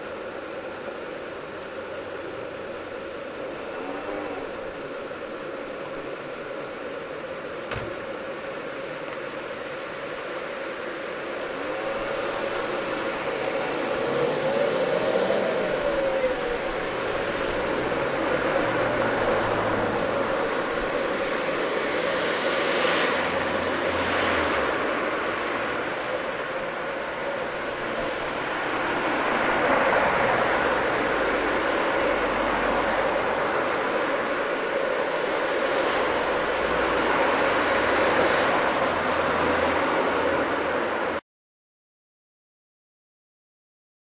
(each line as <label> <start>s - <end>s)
Traffic jam 0.0s - 41.2s
bus 0.0s - 41.2s
moped 3.0s - 5.9s
moped 11.1s - 23.9s